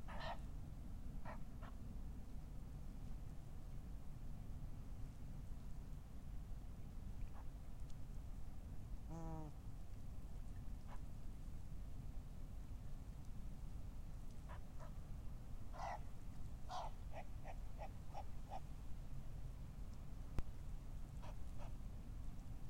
ducks 0.1 - 0.4
ducks 15.7 - 16.0
ducks 16.7 - 18.6

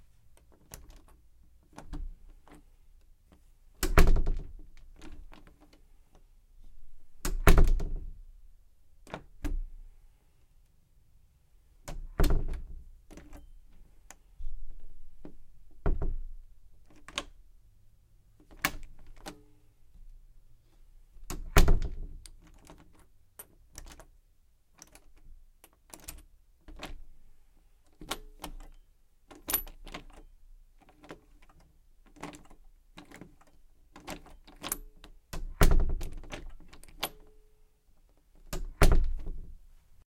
closing the door 3.8 - 4.6
lock and knob 3.8 - 5.6
closing the door 7.3 - 8.0
closing the door 11.9 - 13.4
lock and knob 11.9 - 13.5
closing the door 15.2 - 16.3
lock and knob 15.2 - 17.4
lock and knob 18.4 - 19.4
closing the door 21.3 - 22.1
lock and knob 24.8 - 27.0
lock and knob 27.9 - 37.4
closing the door 35.4 - 37.1
lock and knob 38.4 - 39.5
closing the door 38.5 - 39.5

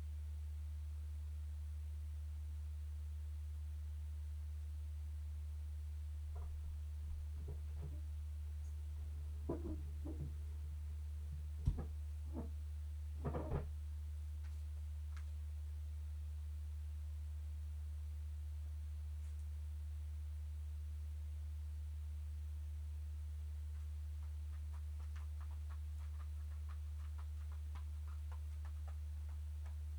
Cat-flap 24.5 - 29.8

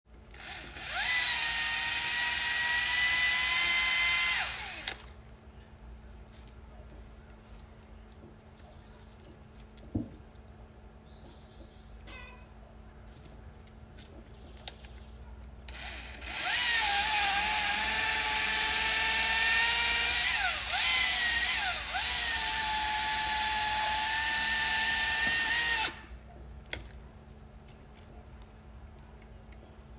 gas powered chain saw 0.3 - 5.1
electric chain saw 0.3 - 5.1
gas powered chain saw 15.7 - 26.1
electric chain saw 15.7 - 26.2

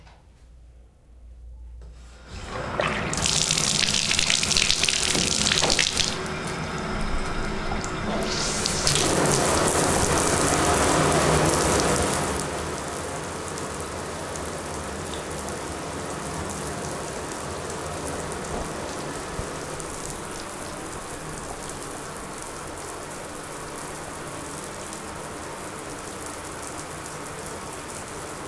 shower 2.2 - 28.4

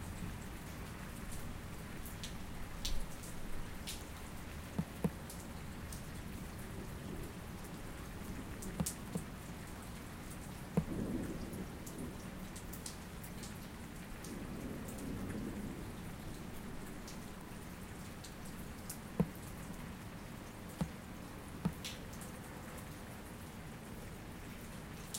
rain 0.0 - 25.1
thunder 10.8 - 12.3
thunder 14.2 - 16.2

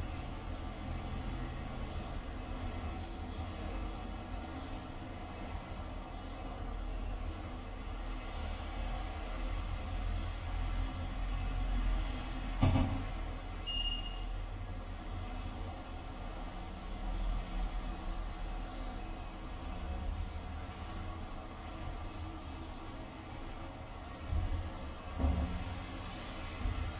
cars 0.0 - 26.9

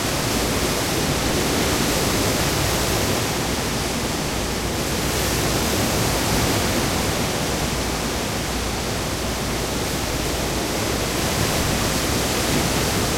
waves 0.0 - 13.1

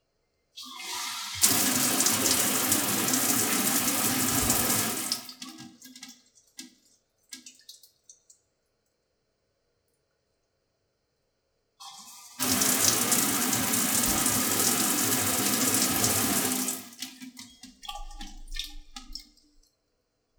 drain 0.6 - 8.4
Shower Turning On / Off 0.7 - 5.3
Dripping 1.4 - 8.4
Shower Turning On / Off 12.3 - 17.0
drain 12.3 - 19.7
Dripping 12.4 - 19.7

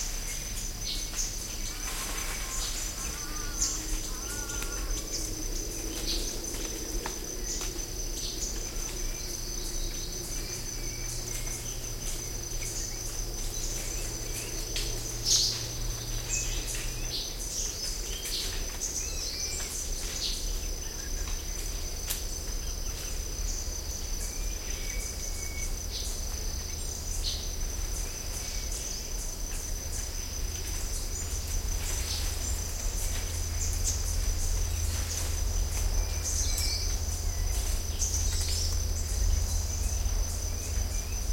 birds 0.0 - 41.3
crickets 0.0 - 41.3

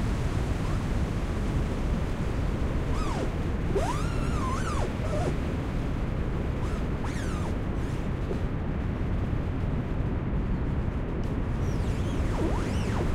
Trees Rubbing Together 2.9 - 5.4
Trees Rubbing Together 6.6 - 8.4

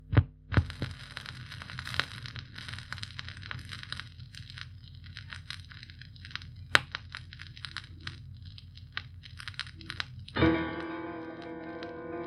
Vinyl spining no music 7.3 - 12.2

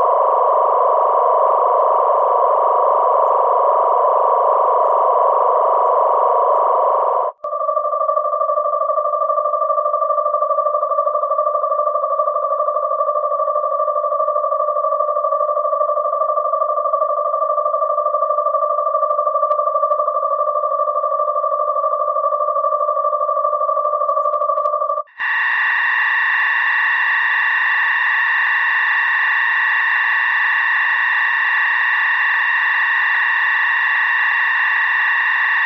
ship-background-ambiance sort of sound 0.0 - 10.7
oscillators 0.0 - 35.6
ship-background-ambiance sort of sound 23.8 - 35.6

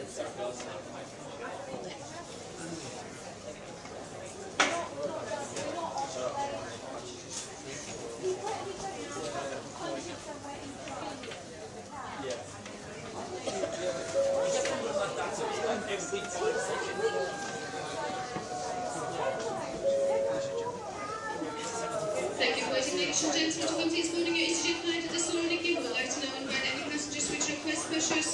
Boarding Call PA Announcements 13.5 - 15.5
Boarding Call PA Announcements 19.6 - 20.8

